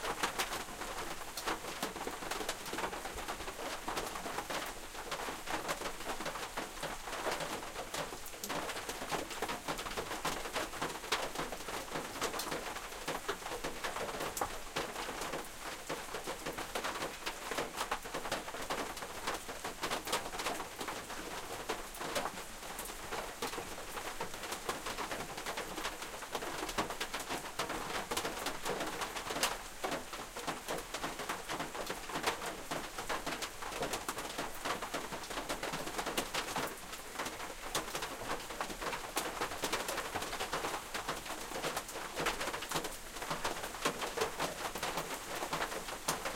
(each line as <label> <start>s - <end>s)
rain on metallic roof 0.0s - 46.3s